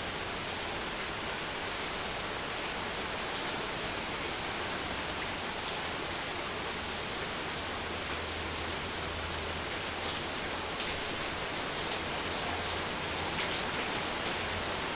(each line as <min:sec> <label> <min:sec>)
0:00.0 Slight to heavy rainfall on my backyard deck 0:14.9